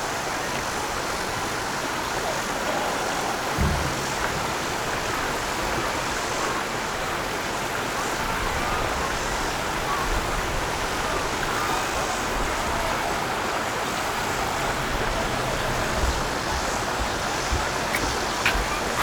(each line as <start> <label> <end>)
9.7 Water flow 19.0